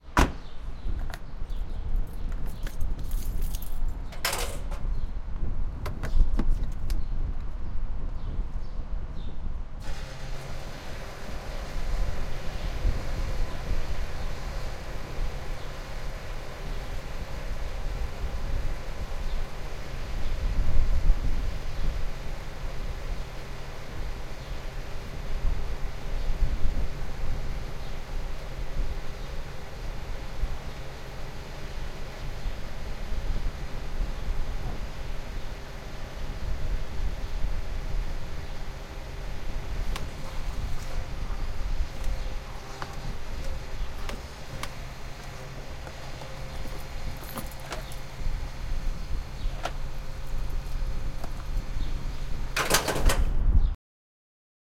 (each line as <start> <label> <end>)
0.0 wind 53.8
0.1 closing door 0.5
0.2 birds 5.2
4.1 closing door 4.9
9.8 cars 20.4
12.4 birds 20.6
37.7 cars 52.8
38.3 birds 52.6
42.6 closing door 48.1
49.5 closing door 49.8
52.5 closing door 53.4